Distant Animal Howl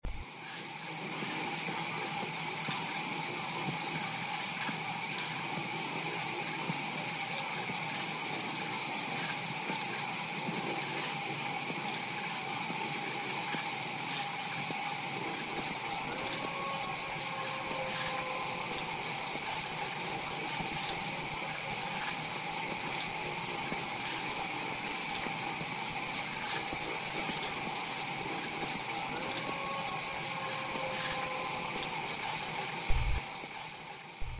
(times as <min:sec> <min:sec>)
0:14.3 0:22.2, 0:26.2 0:33.3